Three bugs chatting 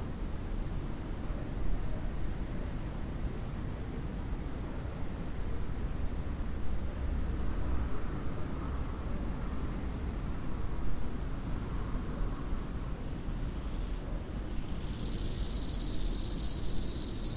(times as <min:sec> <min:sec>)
0:11.5 0:17.3